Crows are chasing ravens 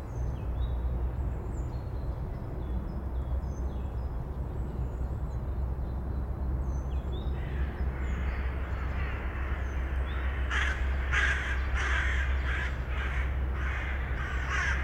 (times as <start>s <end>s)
7.4s 14.8s